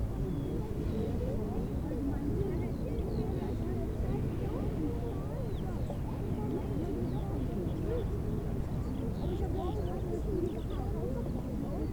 0.0s vistors of the park 11.9s

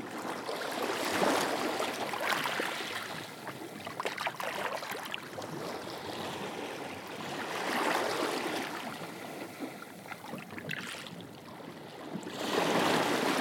0.0s Boats 13.4s

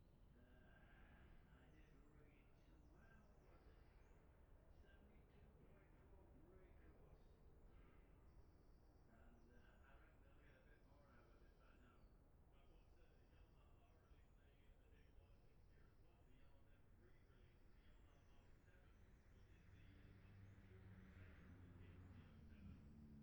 19.6s road racing 23.2s

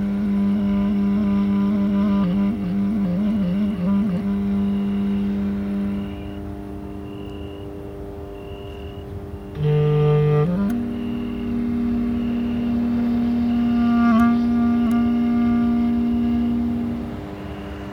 0.0s abused clarinet 17.9s
0.0s electric transformer station 17.9s
0.0s traffic 17.9s
5.9s cricket 9.1s

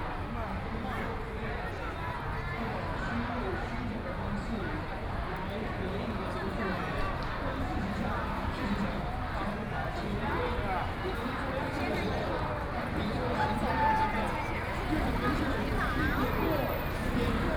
0.0s Many tourists 17.5s
12.8s Traffic Sound 17.5s
13.1s distance protests 17.5s

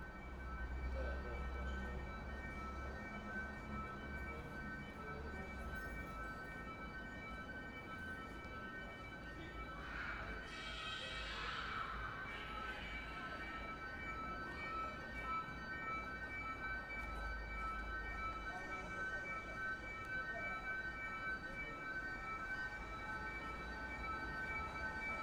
0.0s ShopAlarm 25.2s

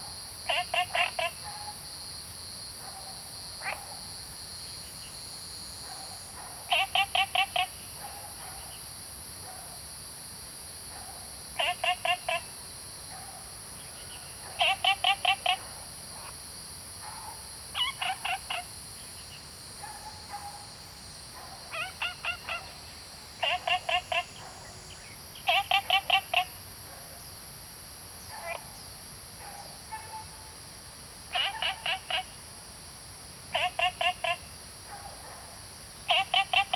0.0s Frogs chirping 1.8s
0.0s Cicada sounds 36.7s
3.4s Frogs chirping 8.9s
11.4s Frogs chirping 16.4s
17.0s Frogs chirping 27.2s
28.2s Frogs chirping 30.3s
31.2s Frogs chirping 32.5s
33.4s Frogs chirping 36.7s

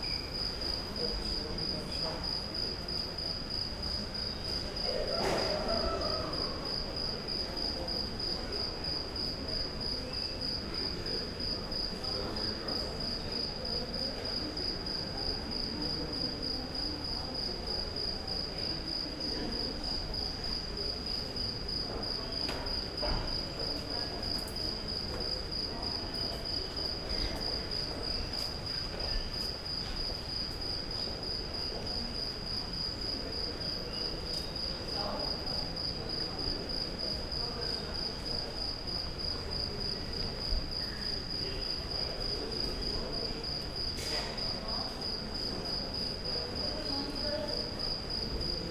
0.0s passengers waiting for their luggage 48.7s

